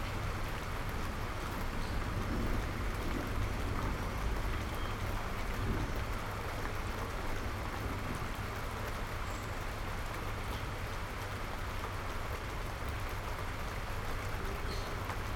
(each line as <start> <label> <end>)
0.0 Rain 15.3